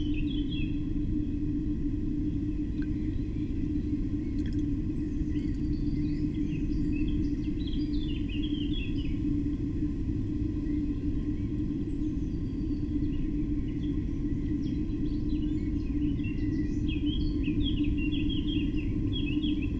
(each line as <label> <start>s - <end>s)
river 2.7s - 5.8s